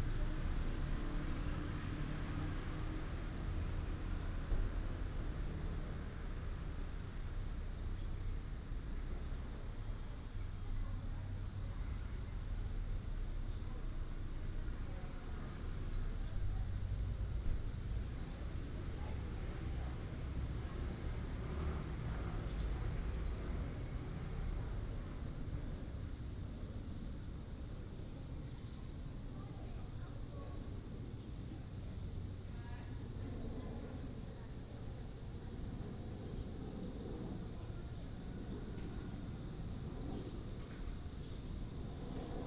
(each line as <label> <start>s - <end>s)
traffic sound 6.6s - 26.4s